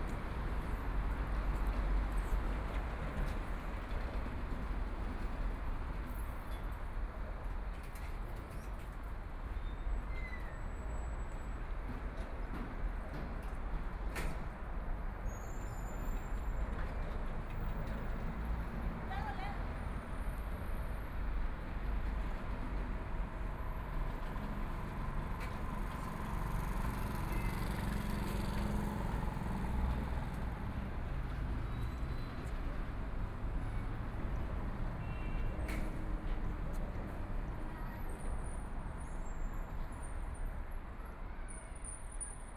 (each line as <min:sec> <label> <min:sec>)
0:11.1 Traffic Sound 0:42.5